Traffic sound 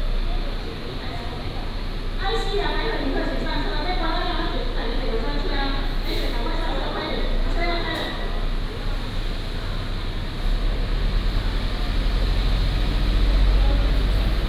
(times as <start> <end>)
8.5 14.4